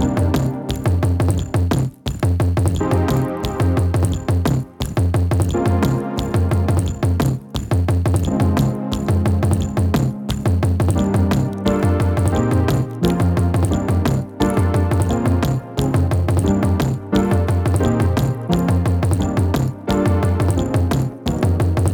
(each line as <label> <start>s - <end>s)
drum 0.0s - 21.9s